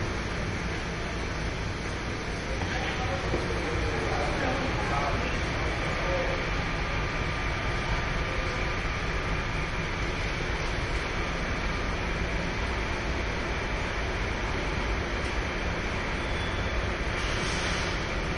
machinery background noise 0.0 - 18.3
voices 2.3 - 9.0

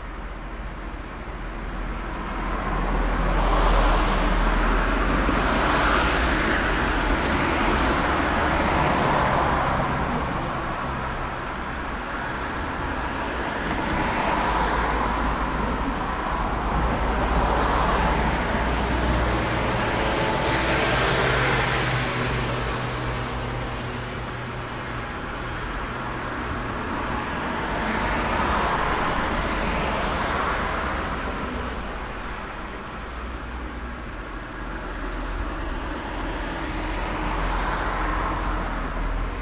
car 0.0 - 39.4

